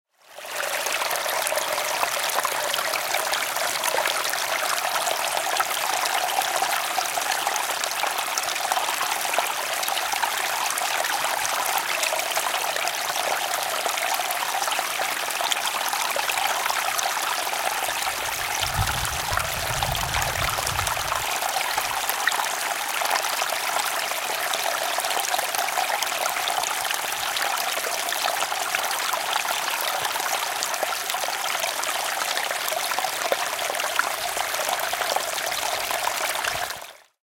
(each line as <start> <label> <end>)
0.1 stream 37.2